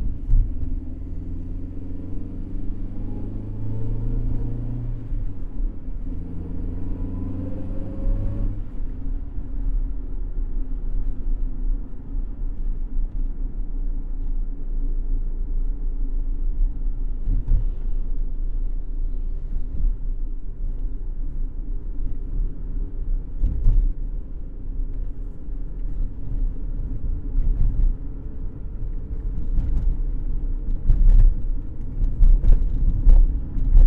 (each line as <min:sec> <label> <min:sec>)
0:00.0 Drive Around Block 0:33.8